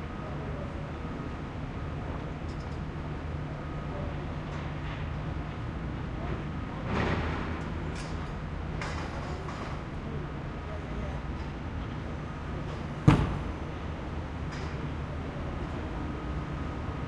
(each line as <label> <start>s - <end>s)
construction 0.0s - 17.0s